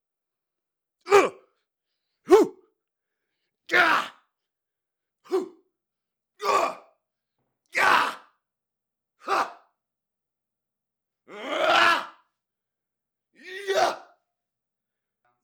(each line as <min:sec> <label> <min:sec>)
0:01.1 Fight Vocalizations 0:01.4
0:02.3 Fight Vocalizations 0:02.6